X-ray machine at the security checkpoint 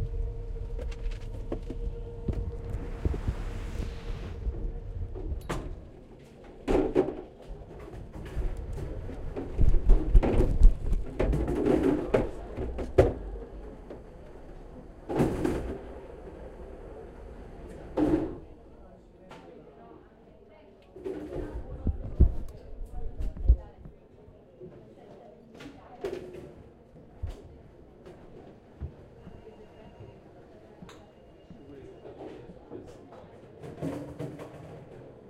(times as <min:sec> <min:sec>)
0:00.0 0:07.6